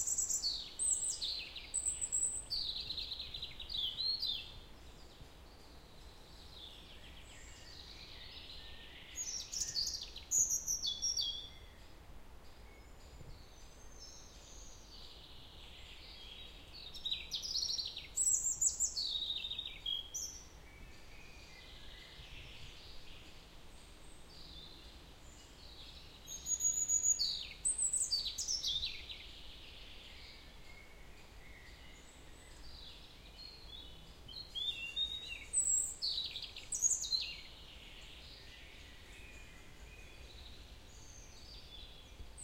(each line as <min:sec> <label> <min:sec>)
0:00.0 singing birds 0:42.4